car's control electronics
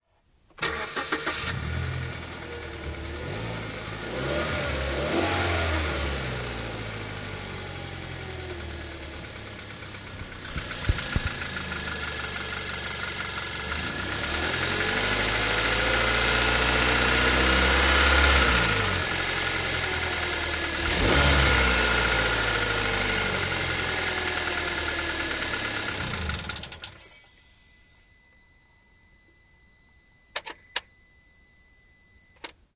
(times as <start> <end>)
10.0 11.8, 25.8 32.7